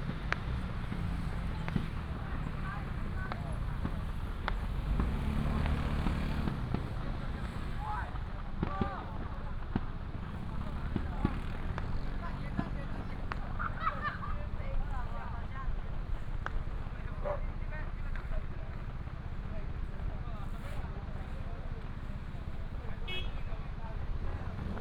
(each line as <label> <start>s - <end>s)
Traffic sound 0.0s - 24.8s
firecrackers 0.0s - 24.8s
Fireworks 0.0s - 13.8s